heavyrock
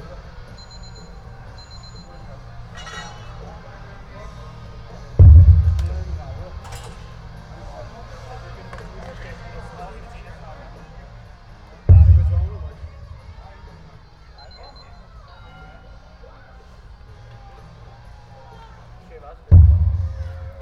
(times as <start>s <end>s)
5.2s 6.8s, 11.9s 13.4s, 19.5s 20.6s